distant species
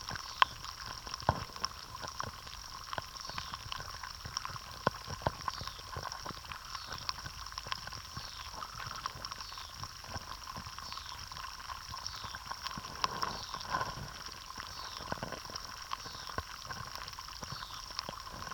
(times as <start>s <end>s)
6.6s 7.1s, 8.0s 9.8s, 10.7s 16.8s